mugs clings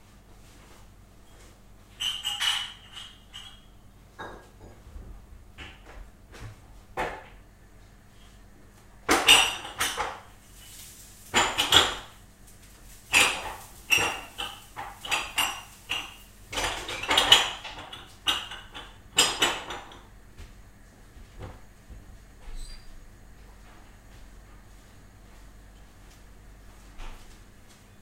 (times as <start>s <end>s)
2.0s 4.8s